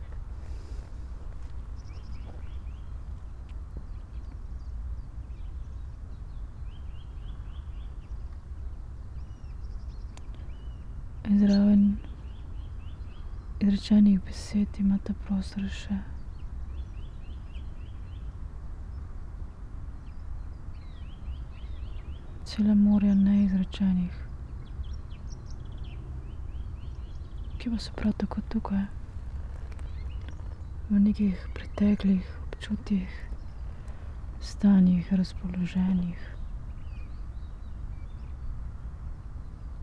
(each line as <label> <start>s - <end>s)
spoken words 27.6s - 29.0s
spoken words 30.9s - 33.4s
spoken words 34.4s - 36.4s